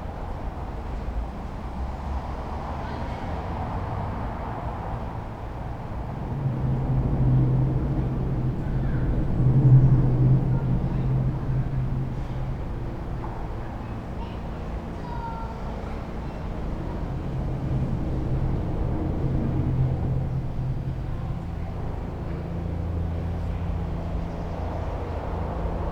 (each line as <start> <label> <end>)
0.0 pedestrians 25.9
0.0 rythmic sound of cars from above 25.9